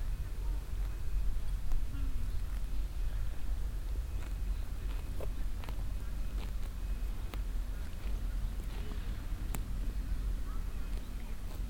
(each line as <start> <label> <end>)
0.0 visitors walking around talking 11.6
0.0 wild donkeys eating meadow 11.6